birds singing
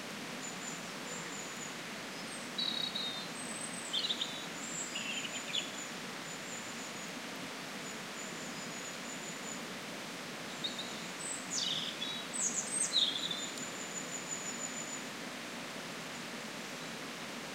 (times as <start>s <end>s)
0.4s 7.0s, 10.5s 15.1s